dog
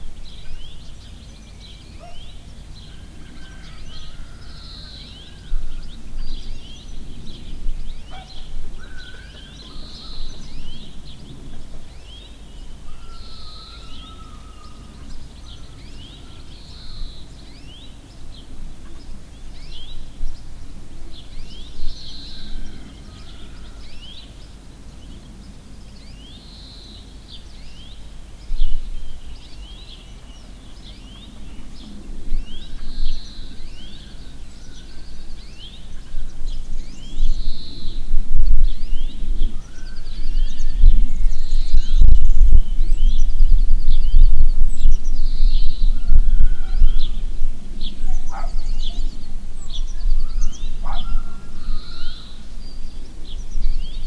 48.2s 49.0s, 50.8s 51.1s

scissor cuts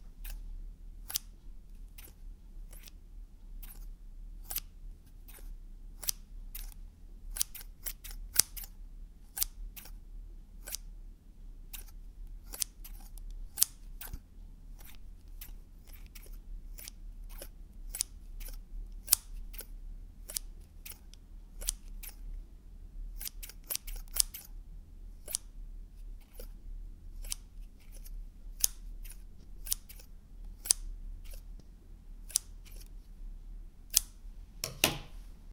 1.0s 1.3s, 1.9s 3.0s, 3.6s 10.0s, 10.6s 10.9s, 11.7s 14.2s, 14.8s 22.2s, 23.2s 24.5s, 25.2s 25.5s, 26.2s 26.5s, 27.2s 31.4s, 32.2s 33.0s, 33.9s 34.2s

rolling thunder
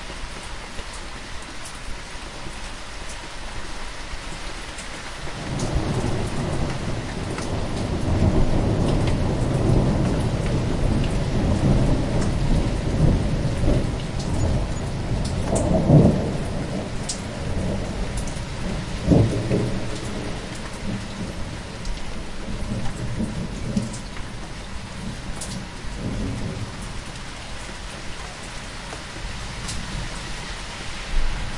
5.4s 27.3s

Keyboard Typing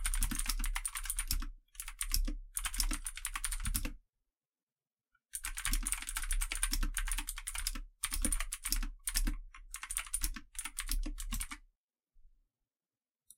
0.0s 4.0s, 5.4s 11.6s

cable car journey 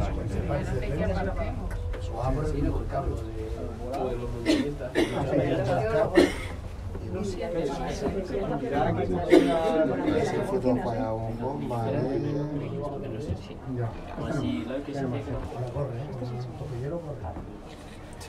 0.0s 9.8s

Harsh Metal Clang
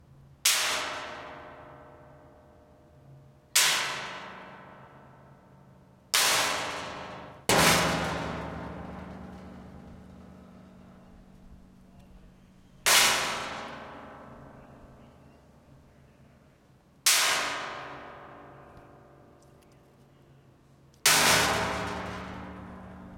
6.2s 15.2s, 21.1s 23.1s

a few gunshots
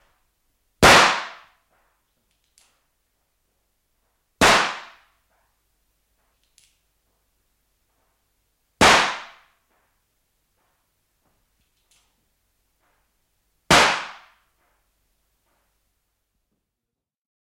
0.8s 1.6s, 4.4s 5.1s, 8.8s 9.6s, 13.7s 14.4s

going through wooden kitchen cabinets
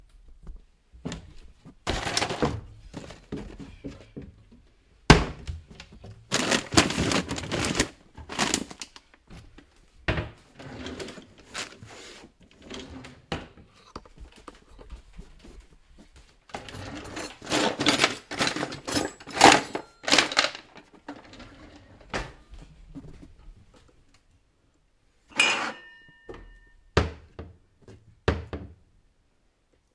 0.6s 24.1s

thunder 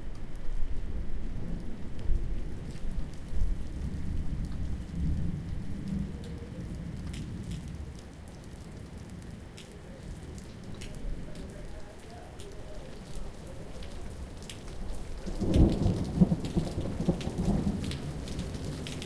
15.2s 19.0s

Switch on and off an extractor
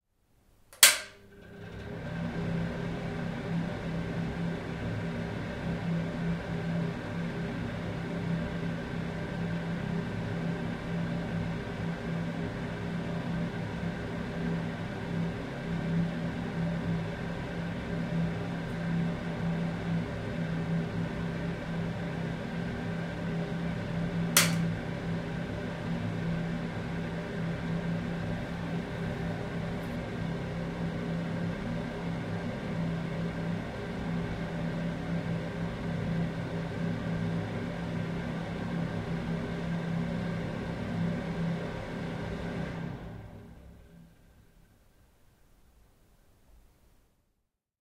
0.7s 2.3s, 24.4s 24.8s

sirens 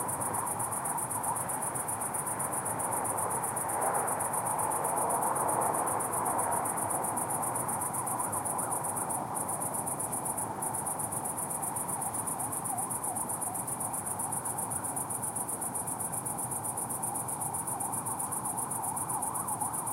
18.8s 19.9s

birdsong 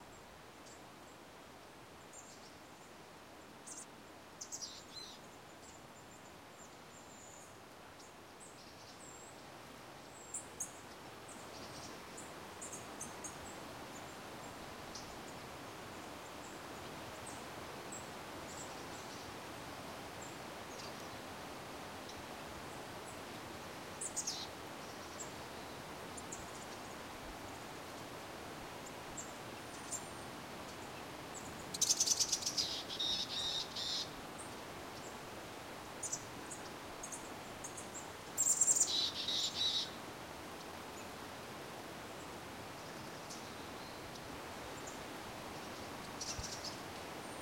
29.2s 35.2s

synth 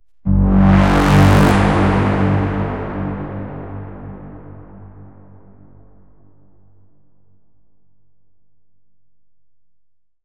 0.3s 6.2s

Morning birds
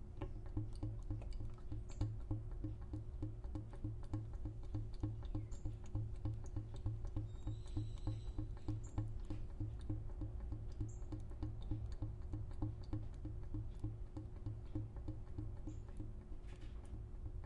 7.2s 9.0s

